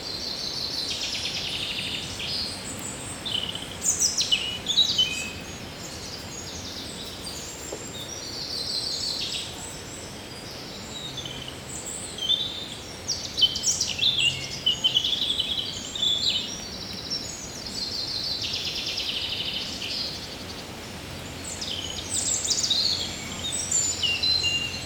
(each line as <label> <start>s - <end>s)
European robin singing 0.0s - 24.8s